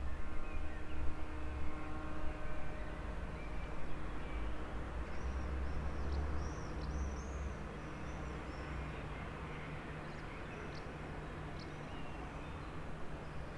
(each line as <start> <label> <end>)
0.0 traffic from long distance 13.5
2.8 birds 13.5